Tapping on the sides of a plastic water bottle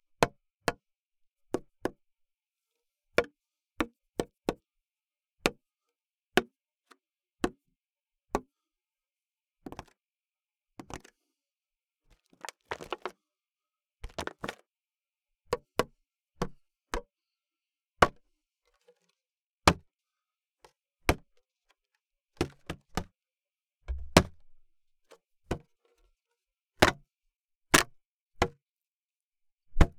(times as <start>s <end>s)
0.2s 0.8s, 1.5s 2.0s, 3.2s 4.6s, 6.4s 6.6s, 7.4s 7.6s, 15.5s 17.1s, 22.4s 23.2s, 23.9s 24.6s, 26.8s 27.0s, 27.7s 28.6s, 29.7s 29.9s